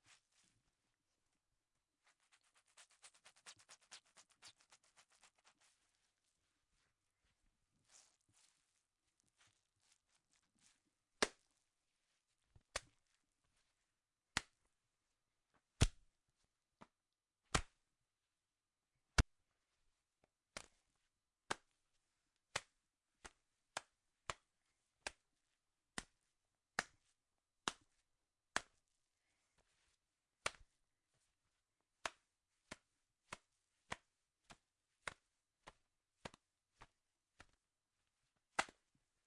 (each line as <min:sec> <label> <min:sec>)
0:02.4 Wet Slaps 0:05.5
0:11.2 Wet Slaps 0:11.5
0:14.3 Wet Slaps 0:14.6
0:15.8 Wet Slaps 0:16.0
0:17.5 Wet Slaps 0:17.8
0:27.6 Wet Slaps 0:27.9
0:28.5 Wet Slaps 0:28.8
0:30.4 Wet Slaps 0:30.7
0:32.0 Wet Slaps 0:37.6
0:38.6 Wet Slaps 0:38.8